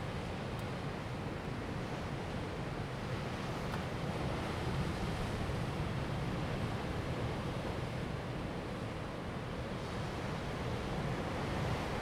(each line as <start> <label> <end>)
0.0 waves 12.0